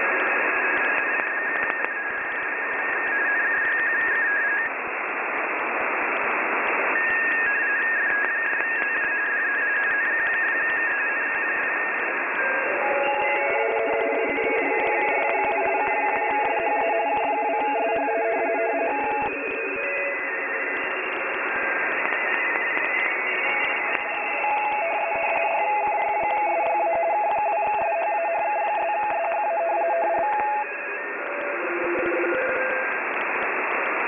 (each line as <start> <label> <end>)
0.0 Ham radio morse code broadcasts 34.0